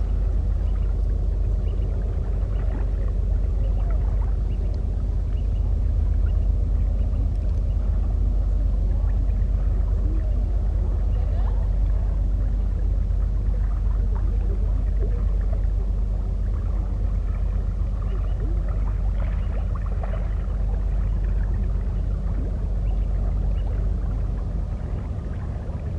barge passing by 0:00.0 - 0:25.9
river 0:00.0 - 0:25.9

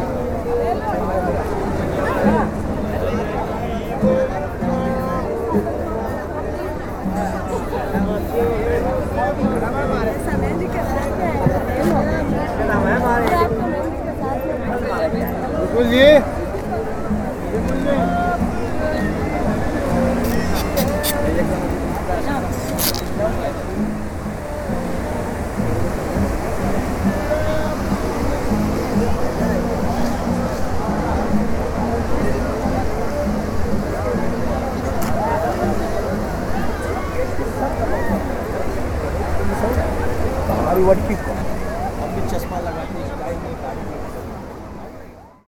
Live music is played 0:16.5 - 0:39.0

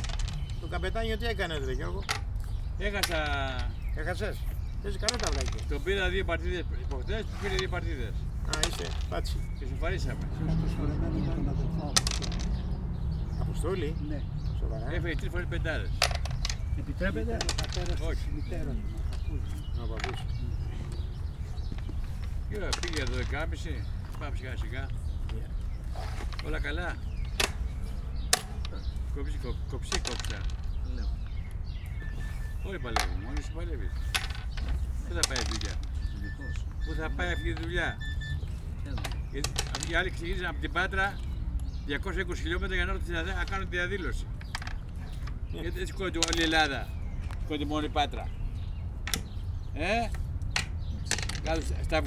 elderly men talking 0:00.0 - 0:52.0
playing backgammon 0:00.0 - 0:52.0

